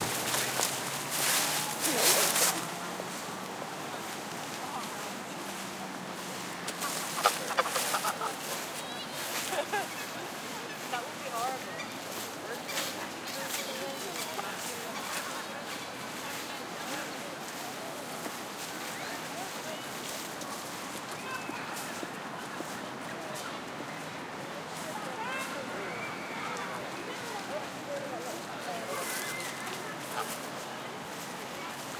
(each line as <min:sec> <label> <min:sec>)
0:06.3 Birds 0:24.1
0:06.7 Ducks 0:11.0
0:28.2 Birds 0:30.6
0:28.9 Ducks 0:30.5